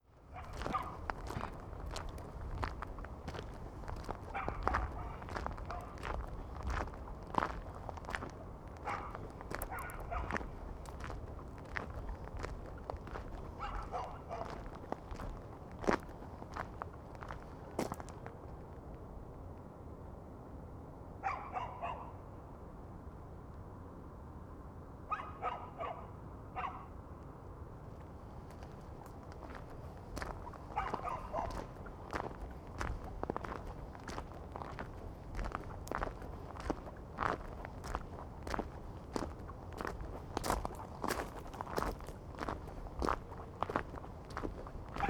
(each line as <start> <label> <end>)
0.3 dogs 2.1
4.0 dogs 6.8
8.8 dogs 11.1
12.1 dogs 16.0
21.2 dogs 22.2
25.1 dogs 27.0
29.4 dogs 38.6
40.5 dogs 45.0